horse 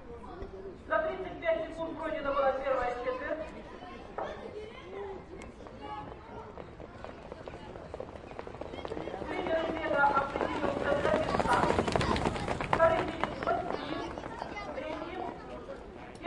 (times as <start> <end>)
6.6 15.0